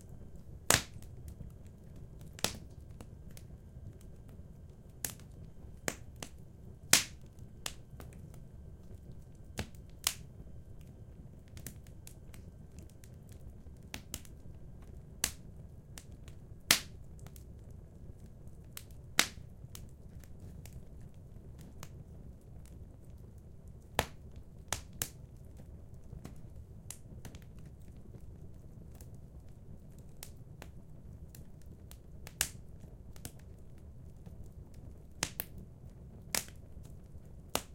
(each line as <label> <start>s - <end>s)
fireplace 0.0s - 37.7s